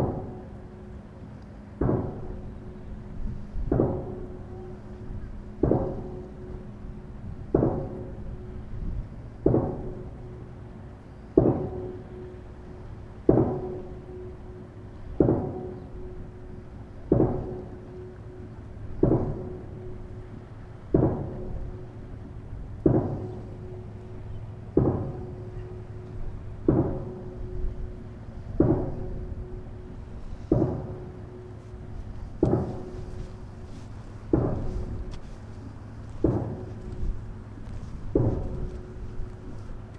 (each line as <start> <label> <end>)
28.6 pounding 31.6
32.3 pounding 33.4
34.3 pounding 35.2
36.2 pounding 37.2
38.1 pounding 39.6